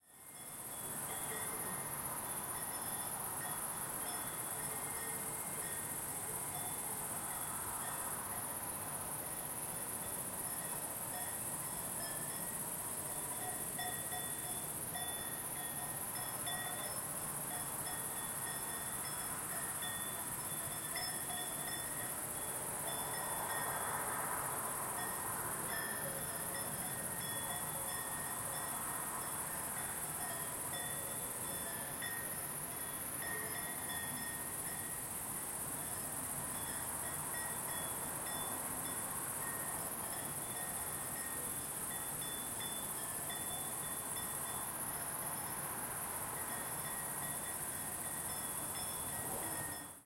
cows in the field 0.0 - 50.0
crickets in the garden 0.0 - 50.0
cars from a road 0.1 - 50.0

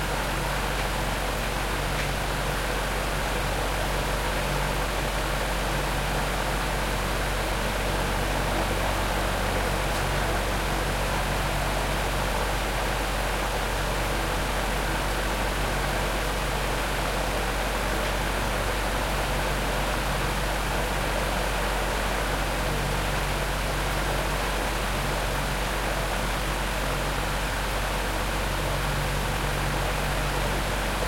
Big Fan 0.0 - 31.0

